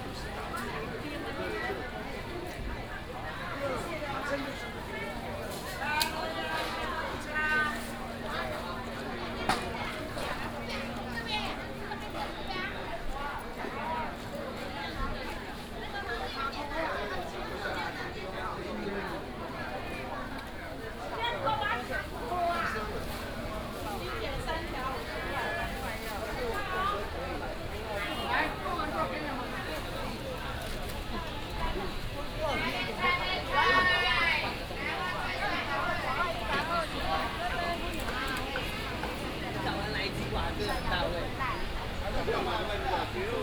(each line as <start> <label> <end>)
21.5 traffic sound 43.4
21.8 vendors peddling 43.4